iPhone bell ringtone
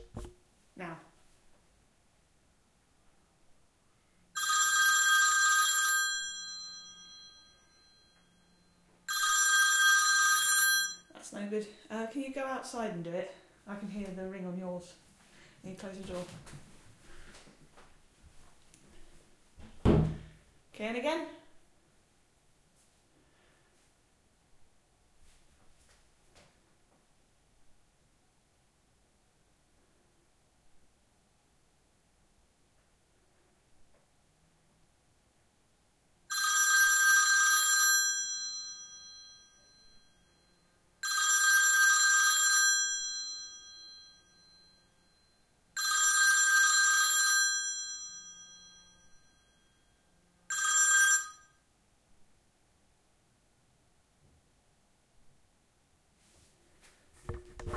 4.4 11.1, 36.3 51.6

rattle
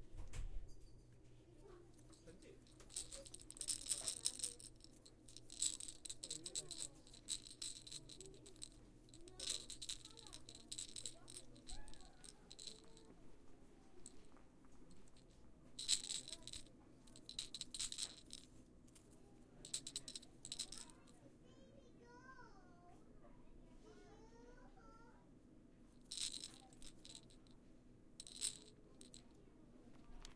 2.0 13.1, 14.0 21.2, 26.0 27.6, 28.2 29.3

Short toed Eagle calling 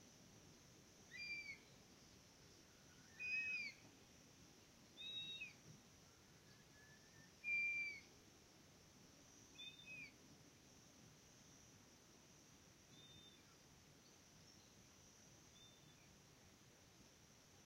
1.1 1.6, 3.1 3.8, 5.0 5.6, 7.4 8.1, 9.6 10.1

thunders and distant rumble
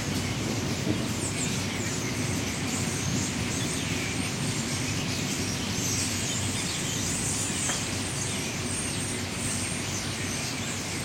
0.0 5.8

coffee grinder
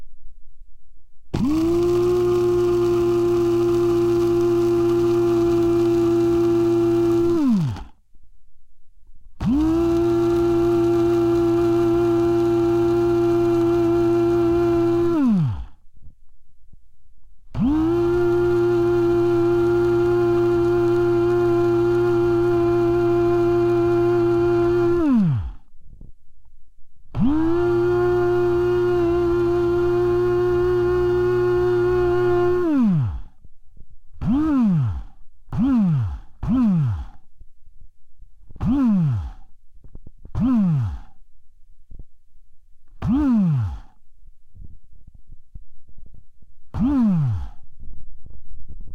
1.4 8.0, 9.4 15.8, 17.5 25.6, 27.2 33.3, 40.4 41.1

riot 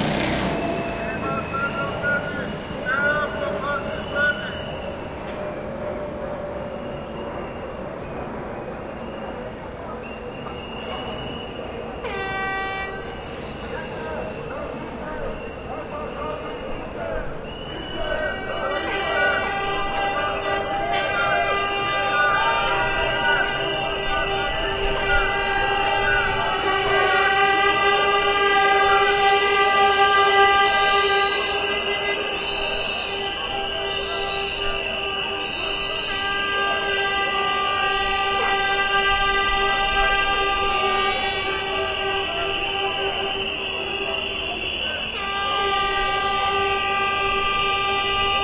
13.5 48.4

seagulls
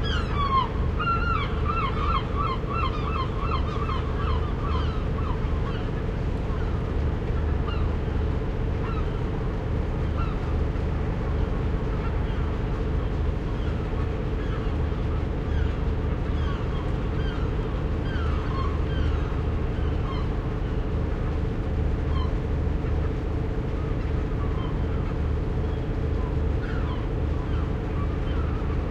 0.0 6.0, 7.7 7.9, 8.8 9.2, 13.4 20.3, 22.1 22.4, 24.4 28.8

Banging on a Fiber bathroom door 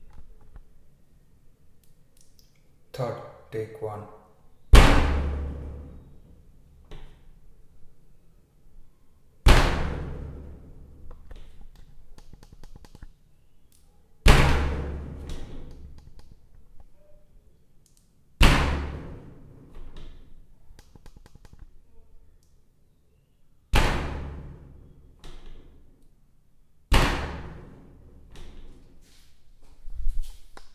26.9 28.7

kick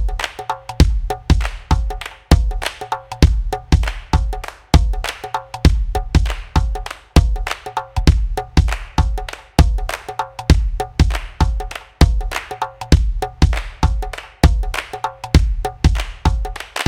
5.7 7.4

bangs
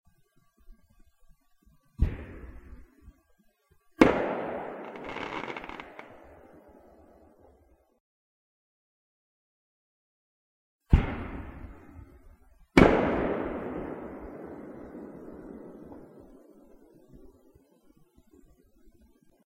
4.0 6.4

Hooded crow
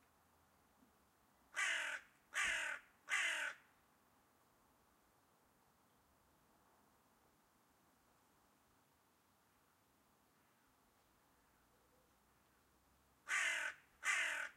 1.5 3.7, 13.2 14.5

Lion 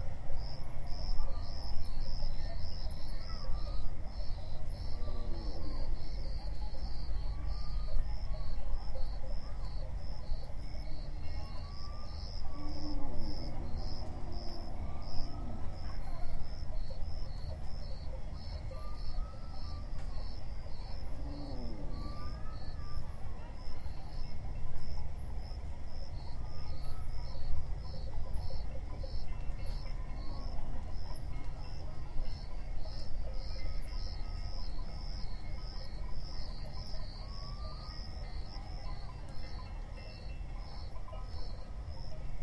4.9 6.7, 18.6 24.0

